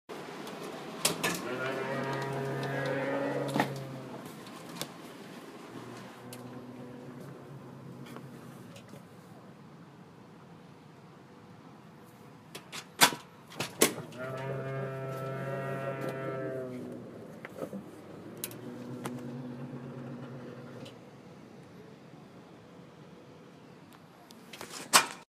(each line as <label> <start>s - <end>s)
creaking door makes a mooing sound when opened 1.2s - 4.3s
creaking door makes a mooing sound when opened 5.9s - 8.2s
creaking door makes a mooing sound when opened 14.1s - 17.1s
creaking door makes a mooing sound when opened 18.4s - 21.0s